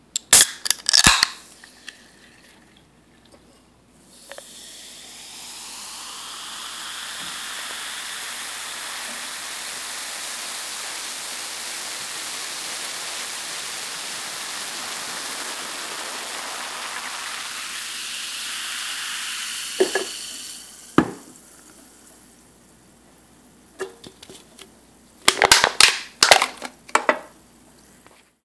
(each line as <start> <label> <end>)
0.2 Opening a can of soda 2.0
4.0 fizz 23.6
4.2 Opening a can of soda 4.7
4.2 pouring it into a glass 21.9
19.8 Opening a can of soda 20.4
19.8 can is placed on a counter 20.2
19.8 can is placed on a counter and crushed 20.2
21.0 can is placed on a counter 21.4
21.0 can is placed on a counter and crushed 21.4
23.8 Opening a can of soda 27.3
25.3 can is placed on a counter and crushed 27.3
25.4 can is placed on a counter 27.3